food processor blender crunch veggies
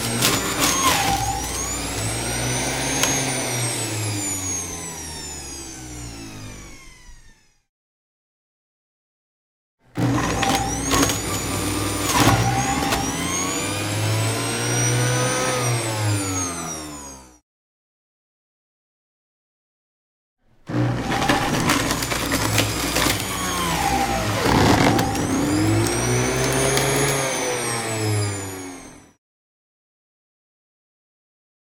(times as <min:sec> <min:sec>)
0:00.0 0:07.6, 0:09.9 0:17.4, 0:20.7 0:29.2